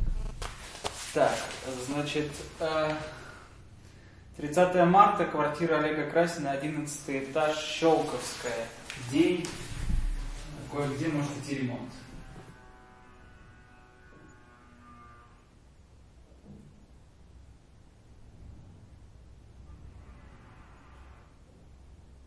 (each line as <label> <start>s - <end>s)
my voice description 0.0s - 3.5s
my voice description 4.4s - 12.1s